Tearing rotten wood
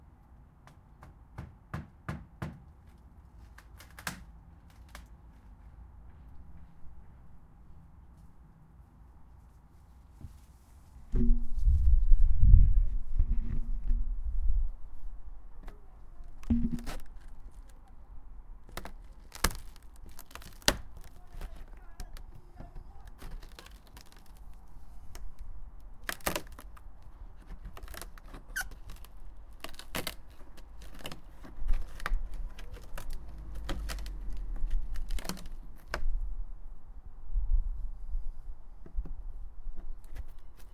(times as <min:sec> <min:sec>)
0:03.4 0:05.2, 0:15.6 0:18.0, 0:18.6 0:36.2